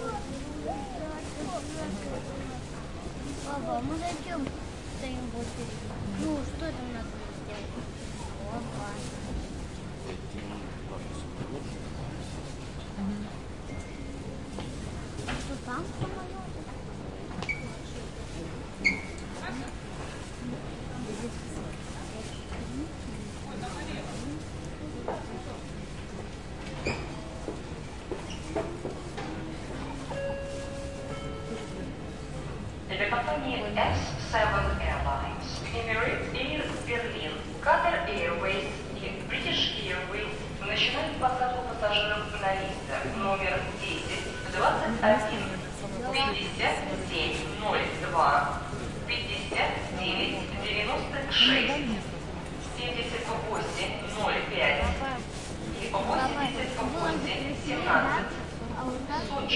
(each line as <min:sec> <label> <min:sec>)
0:00.0 People talk 0:09.5
0:32.9 Announcement departures 0:37.5
0:32.9 People talk 0:52.1
0:52.7 People talk 0:55.2
0:55.8 People talk 0:59.5